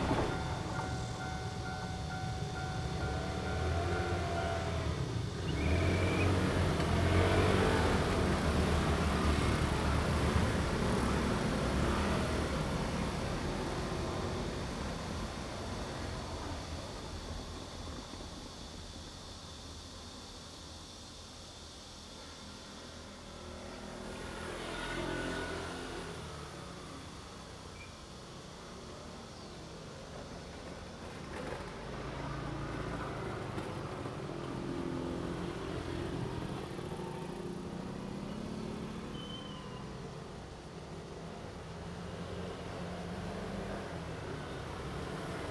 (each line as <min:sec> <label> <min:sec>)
0:00.0 Traffic sound 0:18.4
0:00.0 Railroad Crossing 0:45.5
0:00.0 The train runs through 0:45.5
0:23.3 Traffic sound 0:45.5
0:34.8 Cicada cry 0:40.4